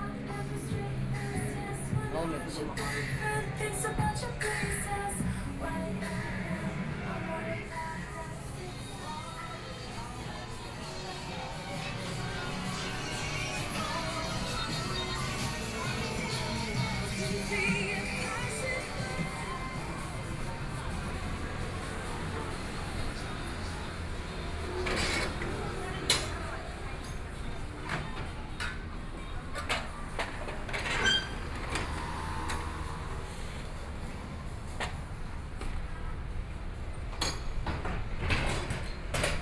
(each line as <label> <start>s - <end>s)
walking in the Street 0.0s - 39.4s